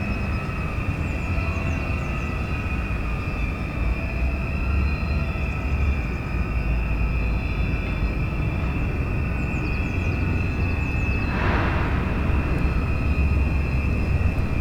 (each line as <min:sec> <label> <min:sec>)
0:00.0 squeaking sound of the ferris wheel 0:14.6
0:08.1 towboat moves empty coal barges away 0:14.6